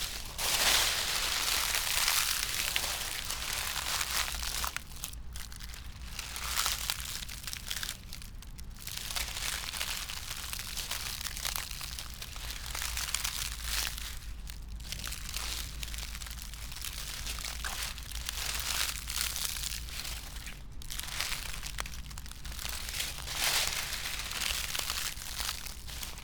0.0s dry poplar leaves, steps 26.2s

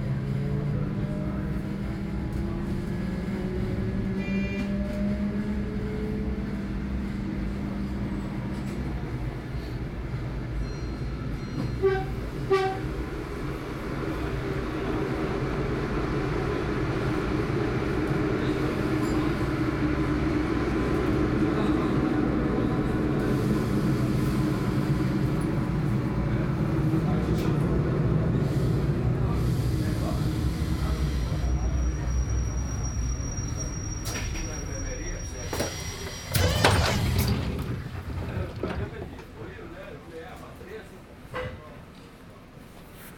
0.0s Train 43.1s
13.9s Voices 42.1s

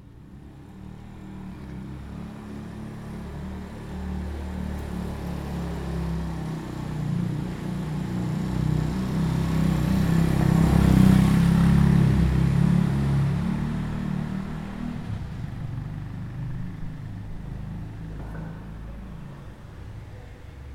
0.0s motorbike passing through the square 20.7s

